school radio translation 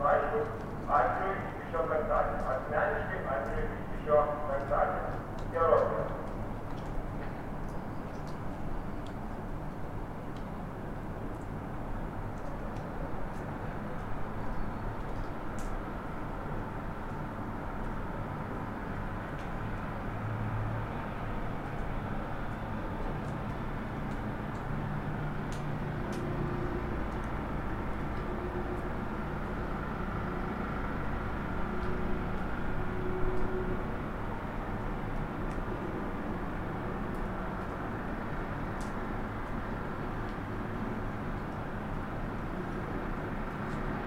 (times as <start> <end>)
0.0 6.2